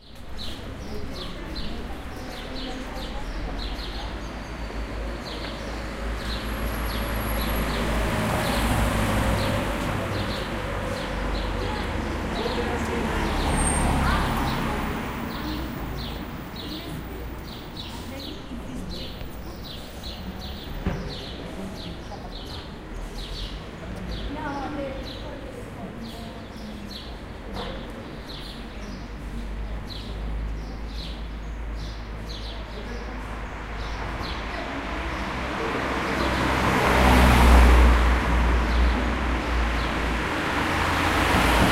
Traffic 0:00.0 - 0:41.7
birds 0:00.0 - 0:41.7
people walking 0:15.1 - 0:21.7

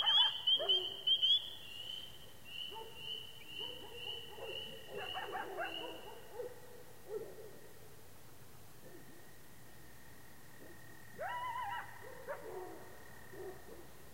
coyotes start calling out 0:00.0 - 0:02.0
spring peepers are chorusing 0:00.0 - 0:06.2
coyotes start calling out 0:02.6 - 0:06.3
coyotes start calling out 0:10.6 - 0:13.7

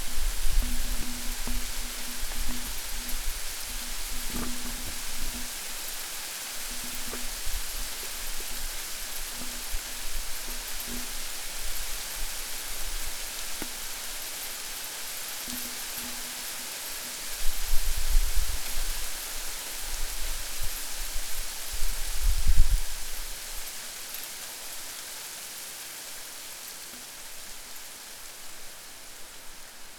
Rain 0:00.0 - 0:29.9

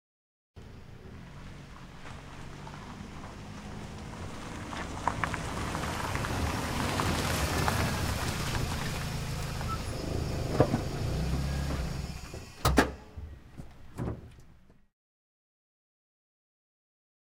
auto car pull up on gravel 0:00.6 - 0:14.8
trunk open close various 0:09.6 - 0:14.8
door open close 0:09.6 - 0:14.6

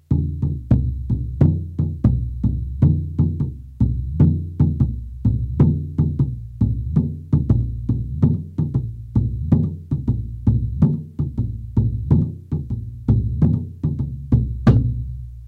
short rhytm and drum bits 0:00.0 - 0:15.4

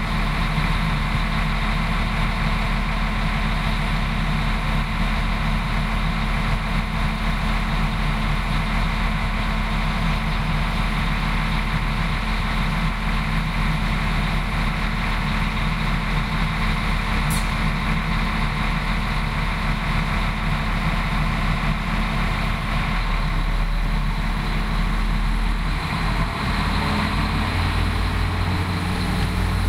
train leaving 0:20.8 - 0:29.6

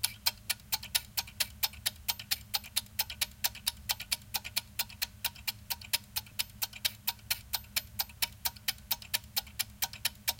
Egg timer, wind up 0:00.0 - 0:10.3
Ticking 0:00.0 - 0:10.3

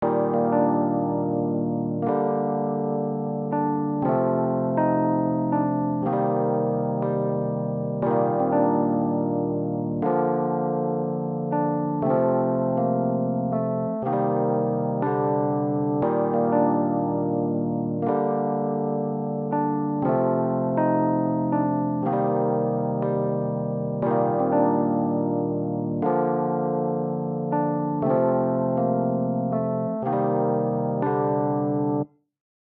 epiano riff 0:00.0 - 0:32.1

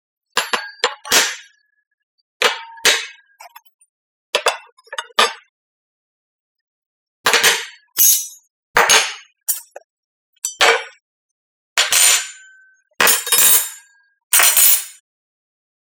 putting-down-cutlery-on-the-table 0:00.4 - 0:01.5
putting-down-cutlery-on-the-table 0:02.4 - 0:03.8
putting-down-cutlery-on-the-table 0:07.3 - 0:09.8
putting-down-cutlery-on-the-table 0:10.4 - 0:11.0
putting-down-cutlery-on-the-table 0:11.8 - 0:15.0

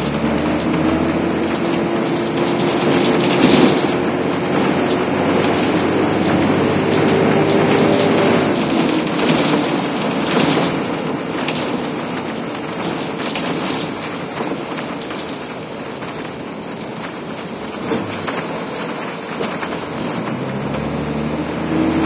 cars 0:00.0 - 0:22.0
trolleybus 0:00.0 - 0:22.0

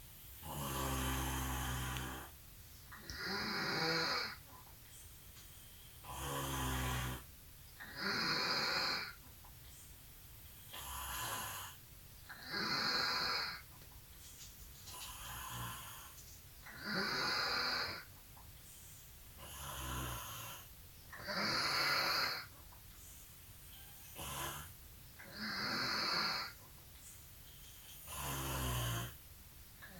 snoring 0:00.4 - 0:02.4
snoring 0:03.0 - 0:04.4
snoring 0:06.0 - 0:09.2
snoring 0:10.6 - 0:13.7
snoring 0:14.9 - 0:18.1
snoring 0:19.4 - 0:22.5
snoring 0:23.7 - 0:26.6
snoring 0:27.9 - 0:29.2

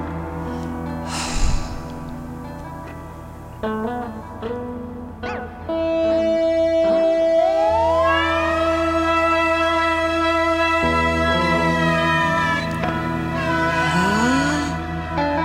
blues 0:00.0 - 0:15.4

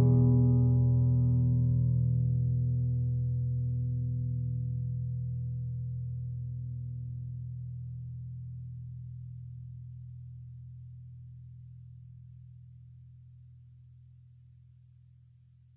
sad guitar strings 0:00.0 - 0:04.9

